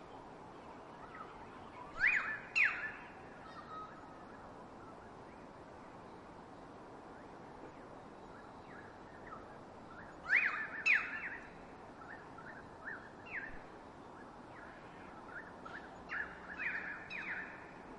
birds 0.0 - 17.9

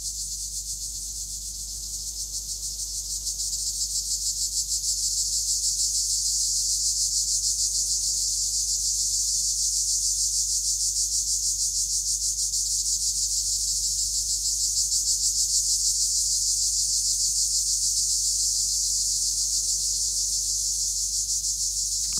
Crickets 0.0 - 22.1

